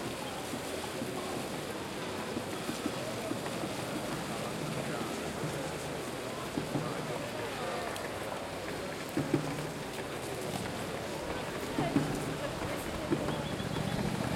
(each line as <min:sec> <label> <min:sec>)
0:00.0 crowd 0:14.3
0:00.0 traffic 0:14.3
0:09.0 bongos 0:14.3